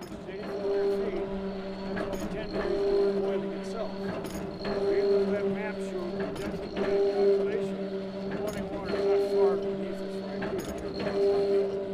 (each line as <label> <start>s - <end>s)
hot springs wellhead pump 0.0s - 11.9s